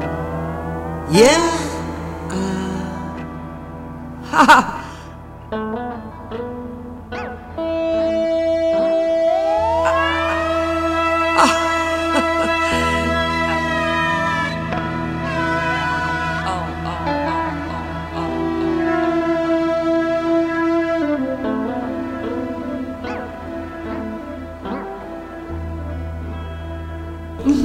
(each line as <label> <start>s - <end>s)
blues 0.0s - 27.6s
speech 1.1s - 3.2s
speech 11.4s - 14.5s
speech 16.5s - 17.2s
speech 27.4s - 27.6s